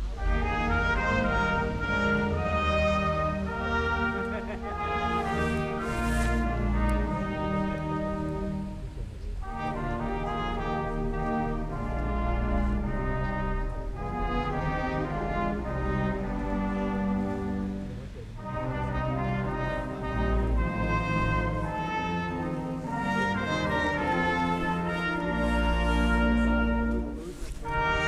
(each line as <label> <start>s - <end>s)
Blaskapelle Weihnachtslieder spielte 0.0s - 28.0s